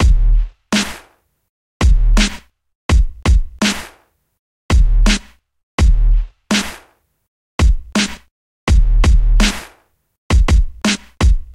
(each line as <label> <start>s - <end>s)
Bass 0.0s - 1.0s
snare 0.7s - 1.2s
Bass 1.8s - 3.8s
snare 2.2s - 2.5s
snare 3.6s - 4.2s
Bass 4.7s - 6.8s
snare 5.1s - 5.4s
snare 6.5s - 7.0s
Bass 7.6s - 9.7s
snare 8.0s - 8.3s
snare 9.4s - 9.9s
snare 10.9s - 11.3s